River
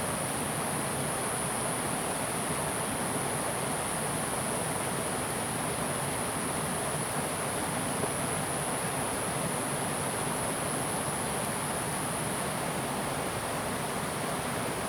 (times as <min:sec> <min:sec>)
0:05.7 0:14.8